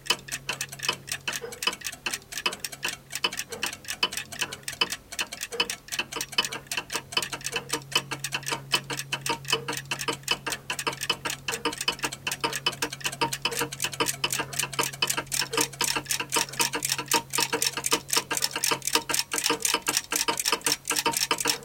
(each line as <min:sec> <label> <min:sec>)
0:00.0 clock 0:21.6